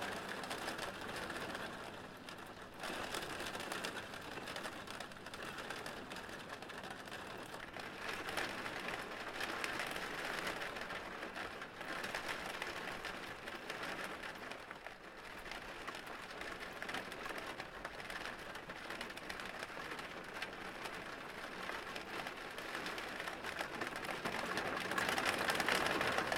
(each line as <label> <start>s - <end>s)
Rain hitting the window 0.0s - 26.3s